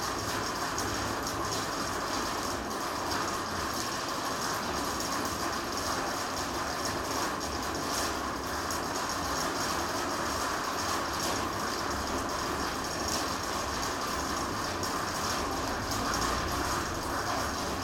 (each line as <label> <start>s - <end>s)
rain hitting the metalic roof 0.0s - 17.8s